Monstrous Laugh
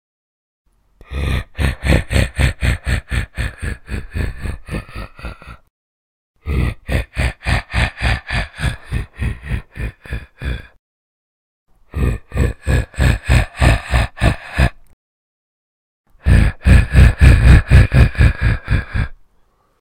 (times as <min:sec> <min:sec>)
0:01.0 0:05.7, 0:06.4 0:10.8, 0:11.9 0:15.0, 0:16.2 0:19.2